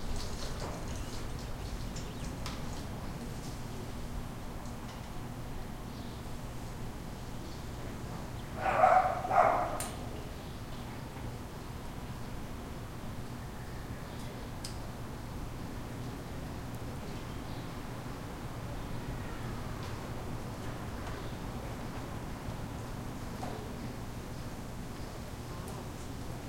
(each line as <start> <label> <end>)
8.5 distant traffic 10.0